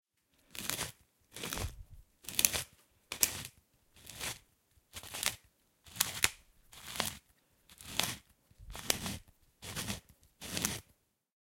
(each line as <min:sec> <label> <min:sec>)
0:00.5 pepper mill 0:10.9